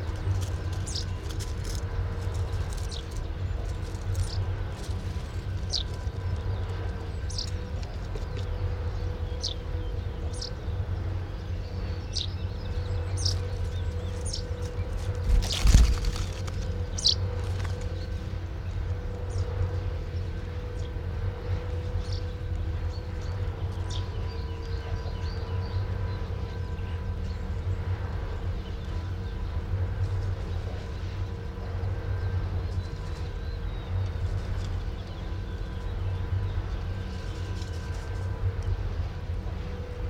fluttering bird 0:00.0 - 0:20.9
falling leaf 0:14.9 - 0:16.8
fluttering bird 0:21.6 - 0:39.0

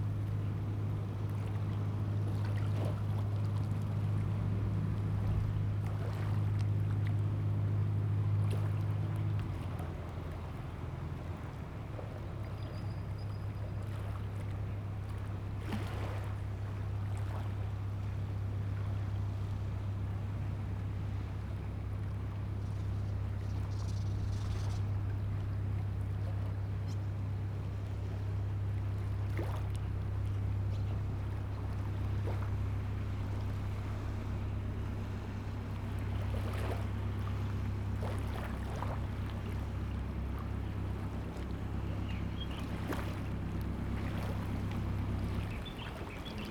Fishing boat returns to the dock 0:00.0 - 0:46.5
tide 0:00.0 - 0:46.5
birds sound 0:22.6 - 0:25.4
birds sound 0:38.6 - 0:46.5

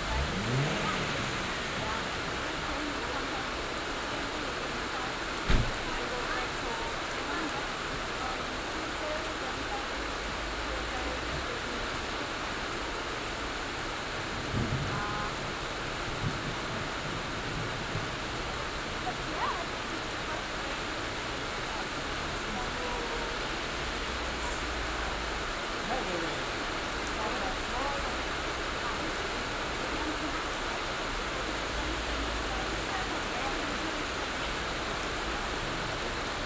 heavy rain 0:00.0 - 0:36.4
conversation in english 0:17.0 - 0:35.1

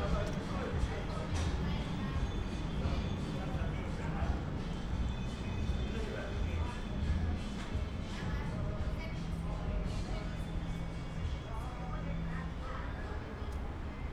music 0:00.0 - 0:14.1

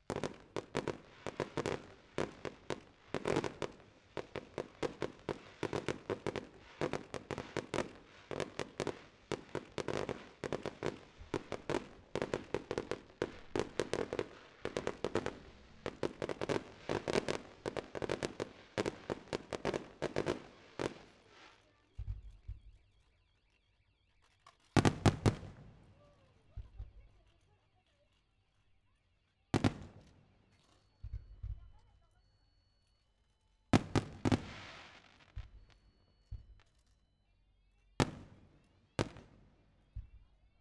FireWorks 0:00.0 - 0:27.8
FireWorks 0:29.6 - 0:32.3
FireWorks 0:33.7 - 0:36.7
FireWorks 0:37.9 - 0:40.6

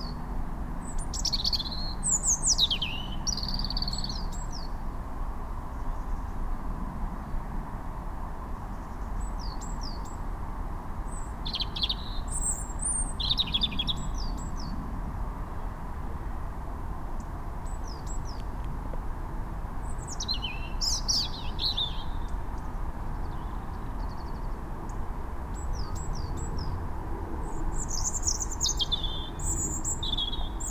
Robin singing 0:00.0 - 0:04.8
Robin singing 0:08.6 - 0:10.2
Robin singing 0:11.0 - 0:14.8
Robin singing 0:17.2 - 0:18.6
Robin singing 0:19.8 - 0:26.8
Robin singing 0:27.4 - 0:30.7

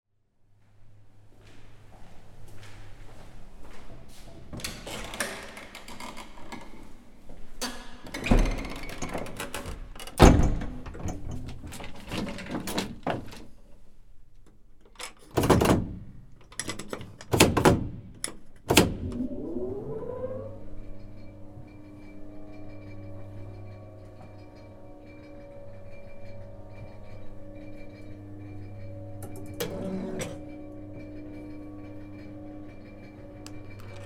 Elevator Sound up 0:15.0 - 0:34.0

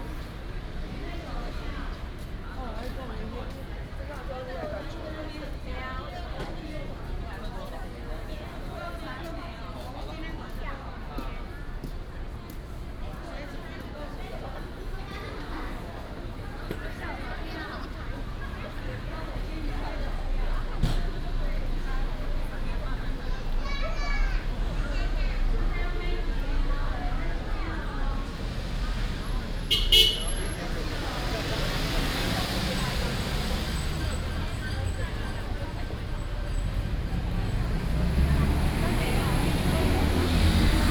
Many tourists 0:00.0 - 0:40.9
traffic sound 0:00.0 - 0:40.9

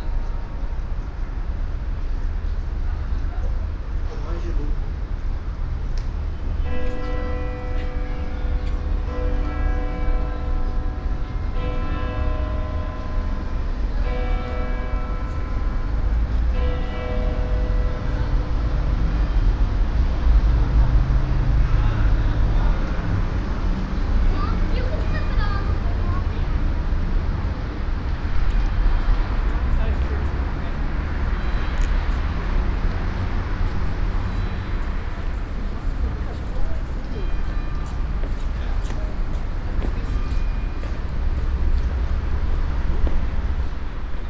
hour bell play of the church 0:00.0 - 0:01.8
passing by traffic 0:00.0 - 0:44.2
hour bell play of the church 0:06.6 - 0:19.5
hour bell play of the church 0:29.8 - 0:42.4

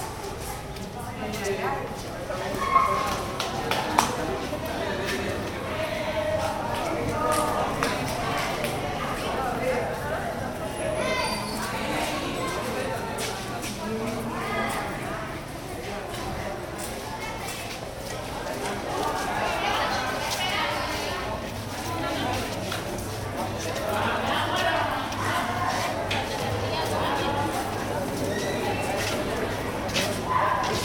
Students 0:00.0 - 0:30.8

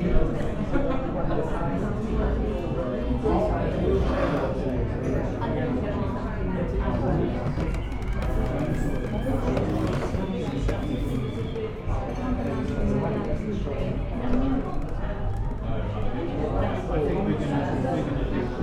Happy customers in a busy cafe 0:00.0 - 0:18.6

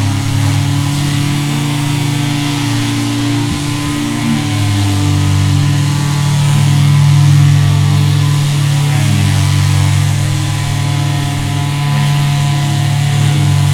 sanding a small boat with electric grinders 0:00.0 - 0:13.7
the hull resonating, making wonderful, deep drones 0:00.0 - 0:13.7

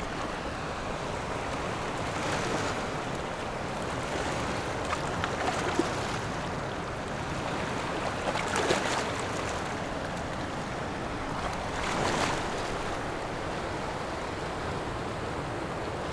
waves 0:00.0 - 0:16.1

